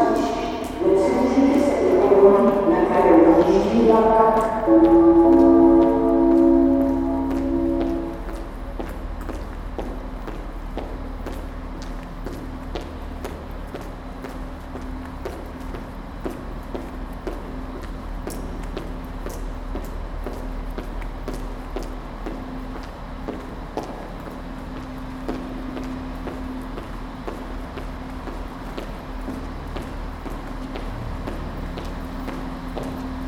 train arrival announcement 0.0 - 10.7
heels in the subway 0.0 - 33.2
waiting train engine 0.0 - 33.2

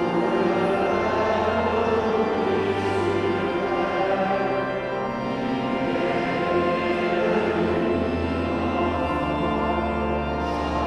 catholic mass 0.0 - 10.8

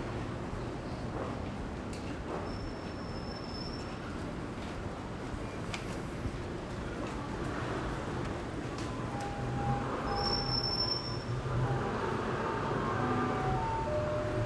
Walking in the alley 4.6 - 14.4
Traffic Sound 7.4 - 14.4

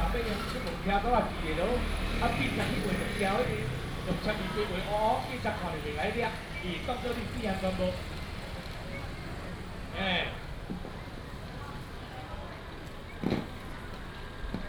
vendor 0.0 - 7.7
Traffic sound 0.0 - 14.6

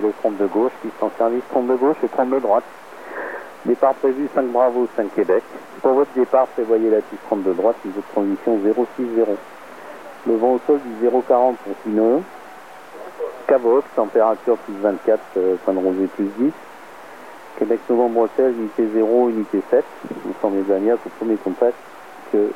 radio wave scanner 0.0 - 22.5

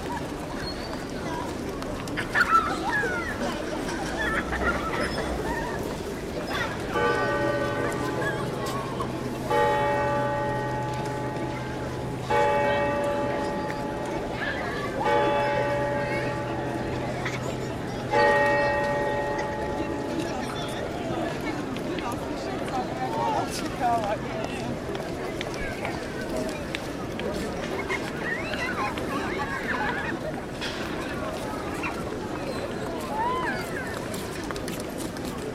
crowd’s rumor 0.0 - 35.5

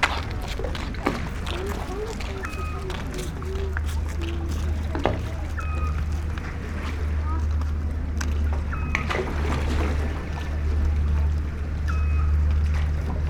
steps 0.0 - 8.7
evening city hum 0.0 - 13.2
sea 0.0 - 13.2

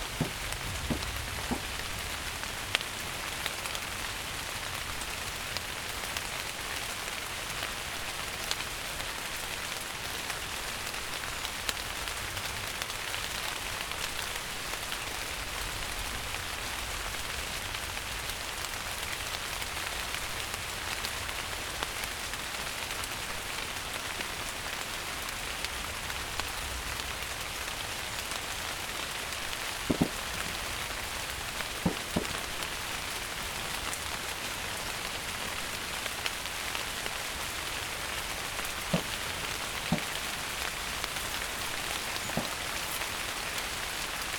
Rain on leaves 0.0 - 44.3

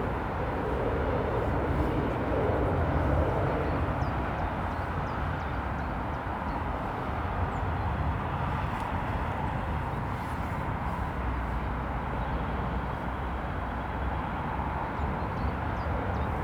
constant roar of traffic 0.0 - 16.4

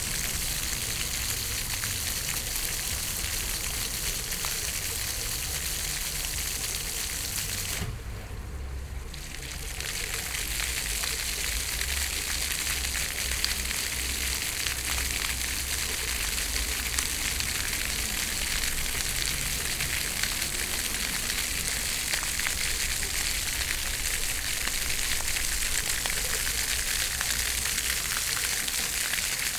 fountain 0.0 - 29.5

